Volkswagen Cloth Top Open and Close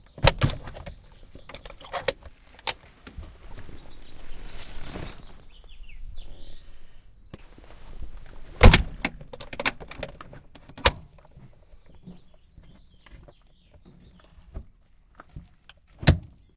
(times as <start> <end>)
1.8 5.6